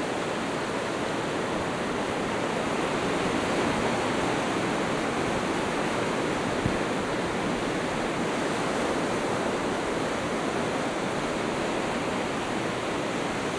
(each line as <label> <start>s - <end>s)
rough sea 0.0s - 13.5s